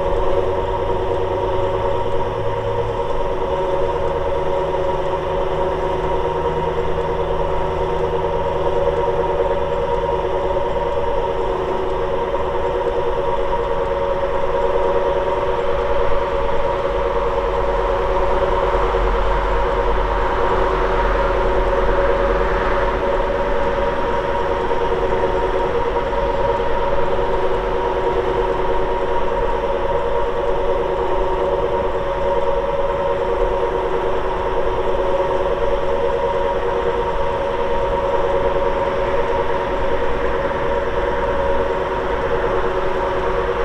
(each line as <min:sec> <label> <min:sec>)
0:00.0 ventilation duct 0:43.6